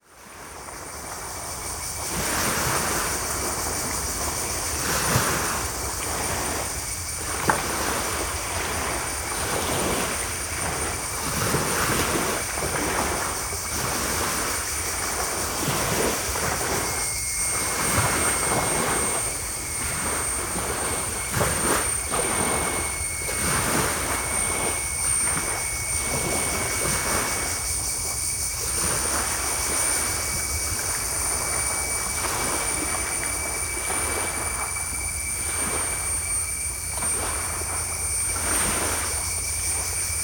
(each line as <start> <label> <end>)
0.0 cicadas 40.2
0.0 sea 40.2
0.0 distand boat 40.2